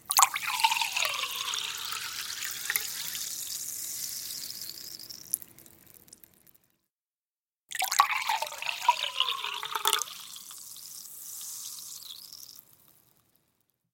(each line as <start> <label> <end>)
0.0 Sparkling water (Badoit) in a glass 6.5
7.7 Sparkling water (Badoit) in a glass 13.3